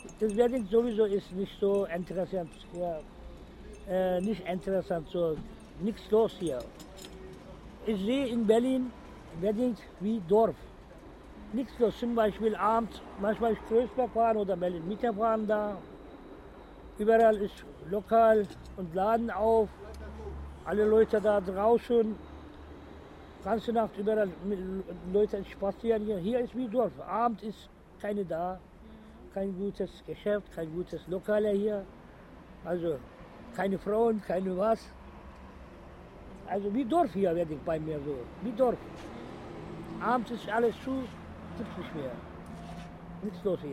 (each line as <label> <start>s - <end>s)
old man talking 0.0s - 3.0s
old man talking 3.8s - 6.7s
old man talking 7.8s - 10.7s
old man talking 11.5s - 15.8s
old man talking 17.0s - 22.2s
old man talking 23.4s - 28.7s
old man talking 29.3s - 31.9s
old man talking 32.6s - 34.9s
old man talking 36.4s - 38.9s
old man talking 39.9s - 42.3s
old man talking 43.2s - 43.7s